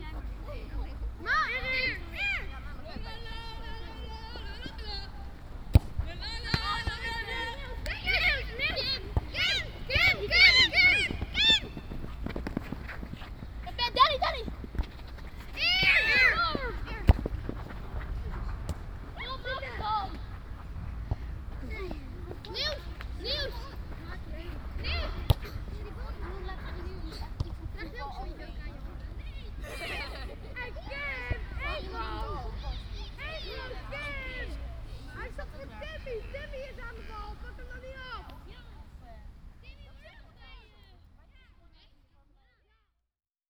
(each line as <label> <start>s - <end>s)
schoolchildren playing soccer 0.0s - 42.8s